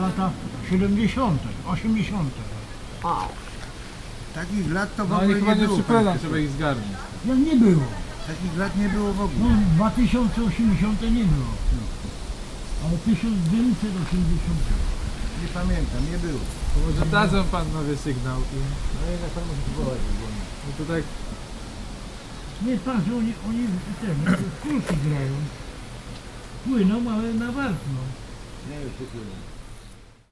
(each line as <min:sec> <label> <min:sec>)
0:22.6 talking about nothing 0:25.6